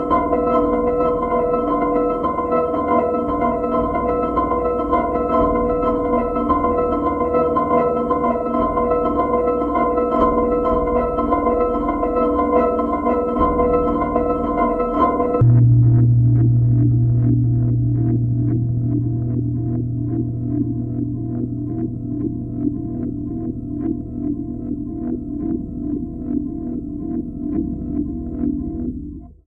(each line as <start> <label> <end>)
15.4 weird sounds on a modular synthesizer 28.5